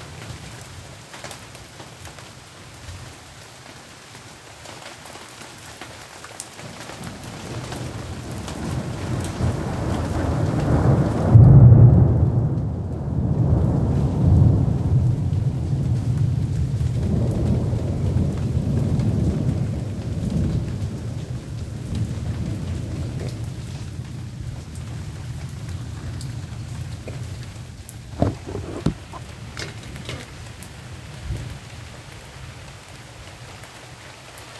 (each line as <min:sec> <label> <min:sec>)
0:00.0 Heavy Rain 0:34.5
0:07.4 rolling thunder 0:31.9